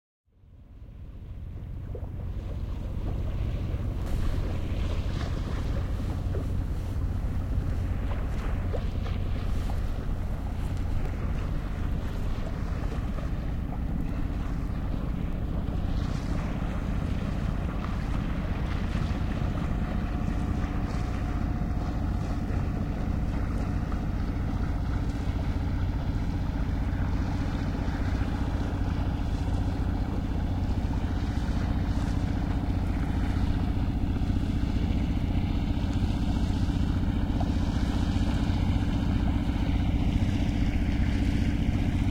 Fishing boat passing 0.3 - 42.1
water sounds 0.4 - 42.1

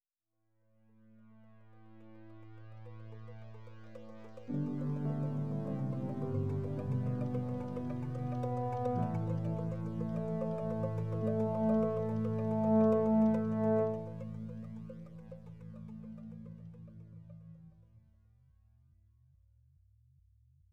piano 1.6 - 17.6
MIDI strings 3.3 - 16.8
rhodes organ 4.1 - 15.1
brass 4.5 - 15.0

